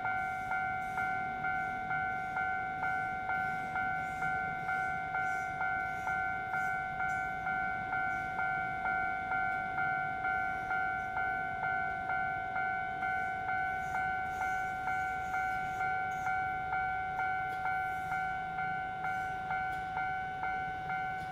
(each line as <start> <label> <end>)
0.0 The train runs through 21.3